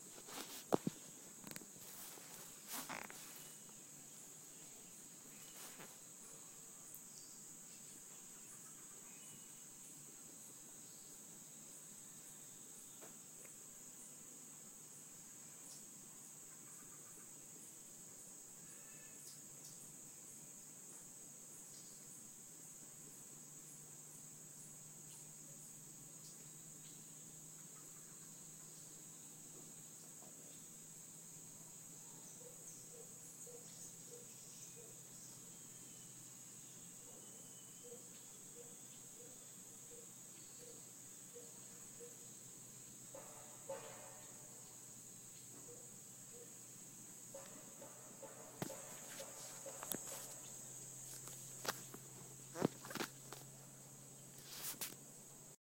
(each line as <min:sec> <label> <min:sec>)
0:00.0 insects buzzing 0:55.6